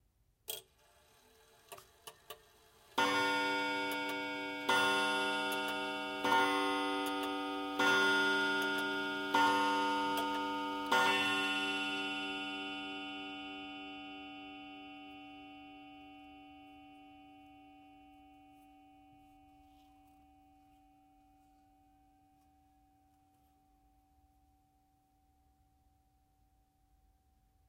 antique clock chimes 6 times, with mechanism 3.0 - 21.2

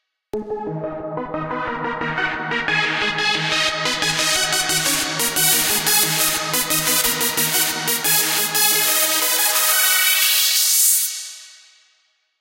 Bass 0.4 - 9.7
Synth 0.4 - 11.3

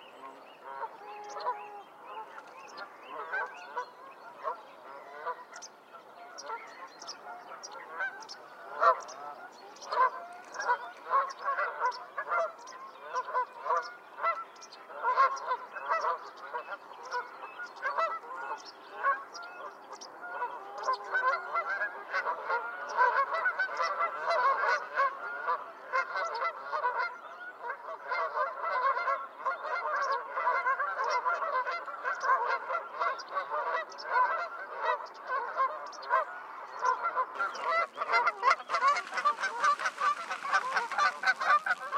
Canada geese 0.0 - 41.9
common pheasant 0.0 - 41.9
mallard 0.0 - 41.9
song thrush 35.8 - 41.9
black-headed gulls 37.3 - 41.9
pied wagtail 37.4 - 41.9

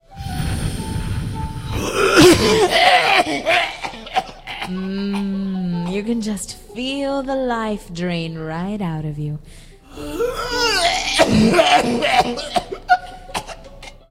Nasty cough 2.0 - 5.3
Female voice 4.7 - 9.5
Nasty cough 10.8 - 14.0

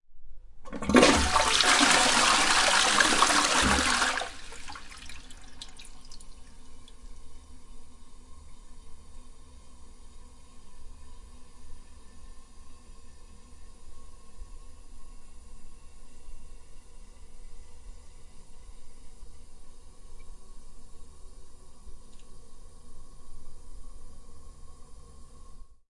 toilet flush 0.7 - 6.4

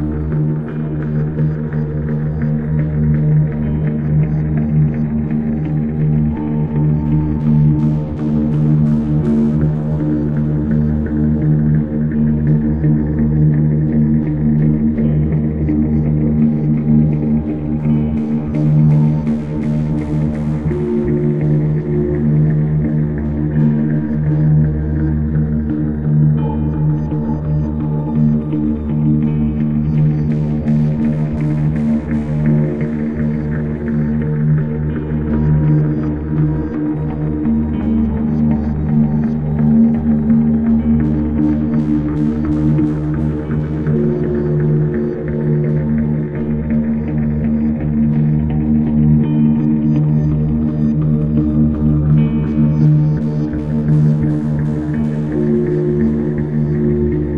bass 0.0 - 57.3
drone 0.0 - 57.3
guitar 0.0 - 57.3

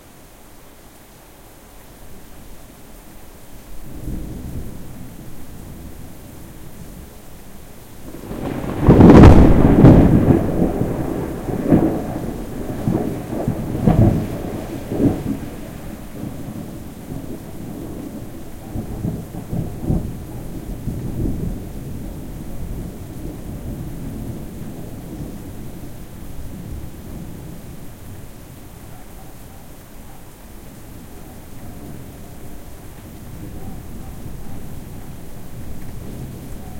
rain 0.0 - 36.7
thunder clap 8.1 - 25.4

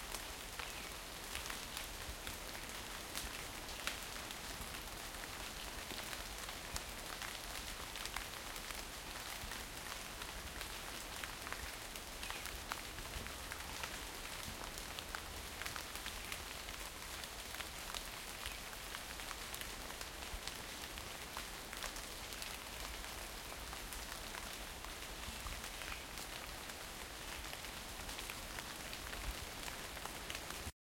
light rain falls 0.0 - 30.7

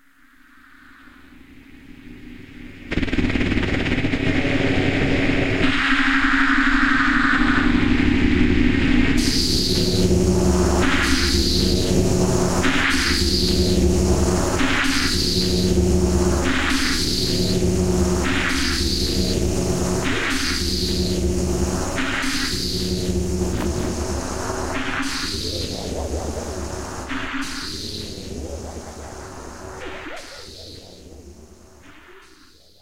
machinery 9.2 - 31.7

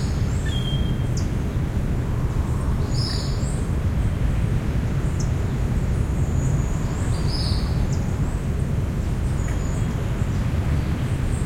birds in the jungle 0.0 - 11.4

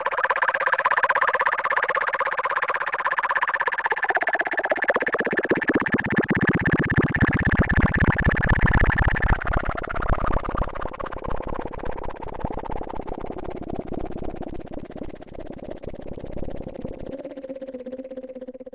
Analog bubbling with the filter going down 0.0 - 18.7

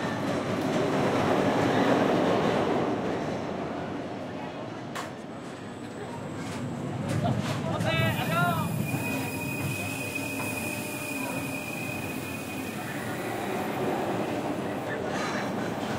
roller coaster 4.9 - 15.9

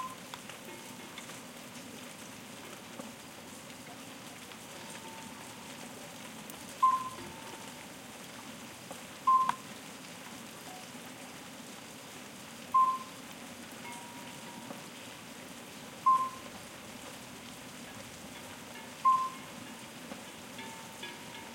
distant cowbell noise 0.0 - 1.2
Soft rain 0.0 - 21.5
murmur of a small stream 0.0 - 21.5
distant cowbell noise 4.8 - 5.8
distant cowbell noise 6.8 - 7.8
distant cowbell noise 13.8 - 14.8
distant cowbell noise 16.1 - 16.5
distant cowbell noise 18.2 - 21.5

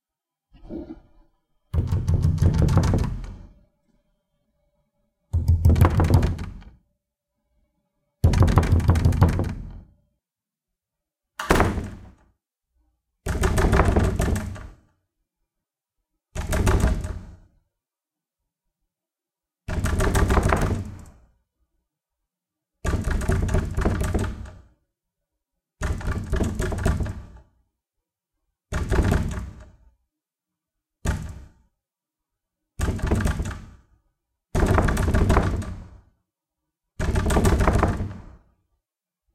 urgent door pounding 1.8 - 3.3
urgent door pounding 5.4 - 6.6
urgent door pounding 8.2 - 9.8
urgent door pounding 34.6 - 35.9
urgent door pounding 37.0 - 38.3

